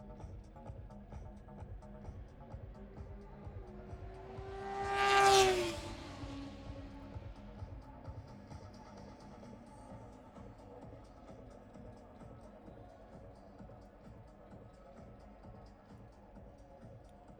motorcycle grand prix 0.0 - 16.6

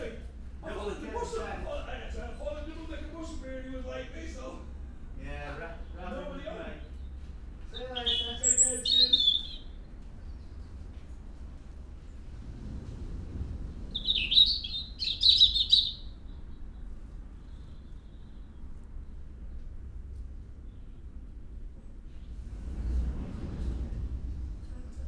voices 0.0 - 10.2
resident robin singing 5.6 - 10.8
resident robin singing 13.9 - 19.5
voices 23.9 - 25.0

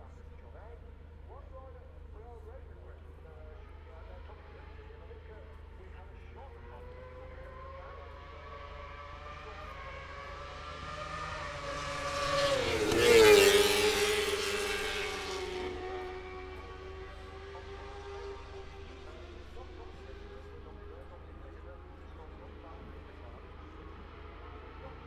moto two 6.9 - 25.0

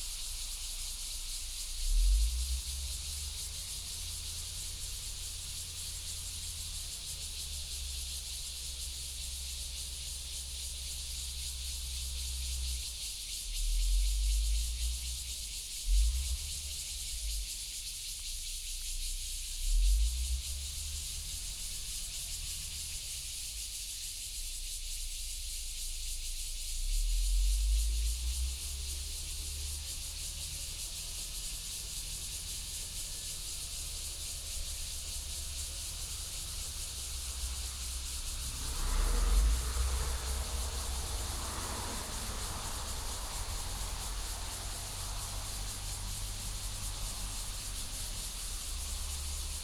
Cicadas sound 0.0 - 49.6
Traffic Sound 28.1 - 49.6

